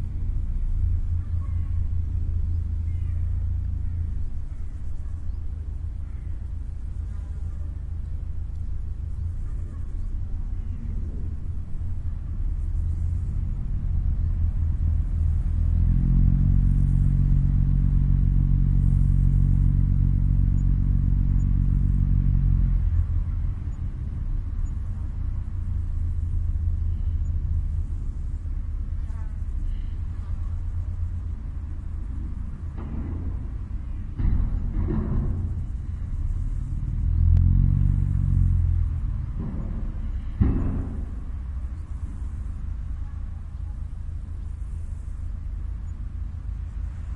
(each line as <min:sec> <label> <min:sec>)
0:00.0 Ferry over the river Elbe 0:47.1